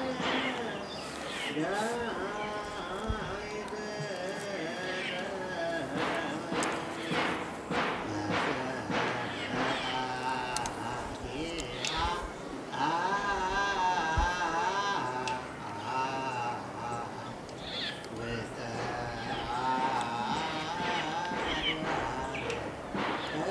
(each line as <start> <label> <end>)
0.0 Lone man singing 23.5